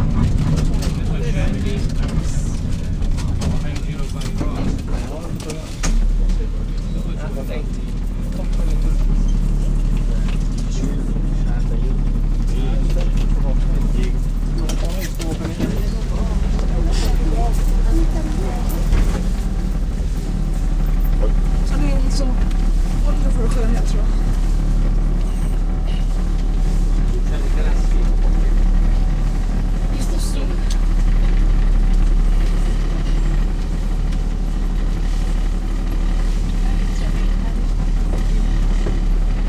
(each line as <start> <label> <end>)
0.0 a tram ride 39.4